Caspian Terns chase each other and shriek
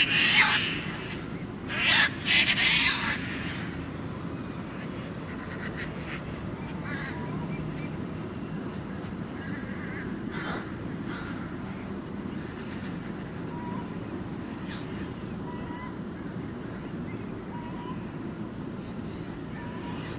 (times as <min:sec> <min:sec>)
0:00.0 0:03.8